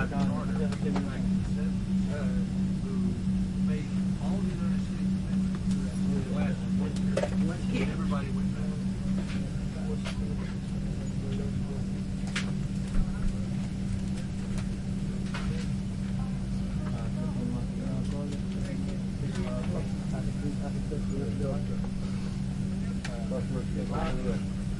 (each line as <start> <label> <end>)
0.0 airplane jet small in flight 24.7